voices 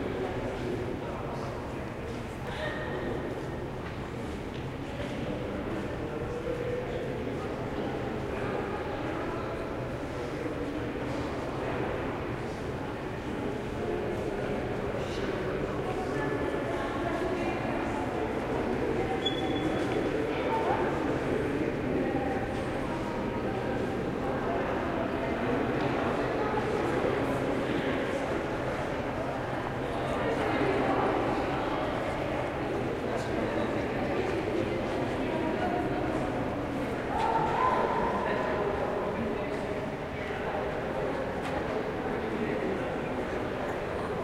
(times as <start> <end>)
30.2 44.2